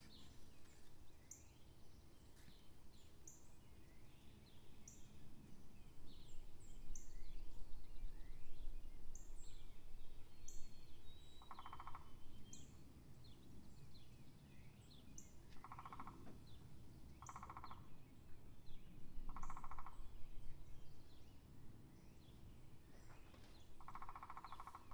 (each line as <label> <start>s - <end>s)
Woodpecker 11.4s - 12.1s
Woodpecker 15.6s - 16.3s
Woodpecker 17.2s - 17.8s
Woodpecker 19.3s - 20.0s
Woodpecker 23.1s - 24.9s